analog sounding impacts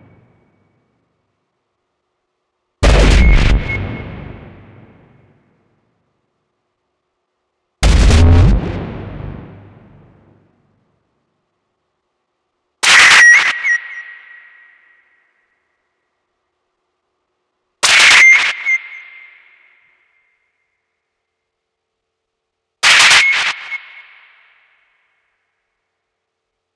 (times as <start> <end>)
2.8 5.3, 7.8 10.5